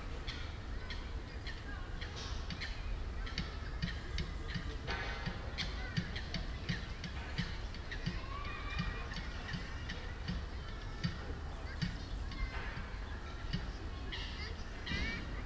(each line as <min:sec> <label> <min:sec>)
0:05.6 kids 0:15.4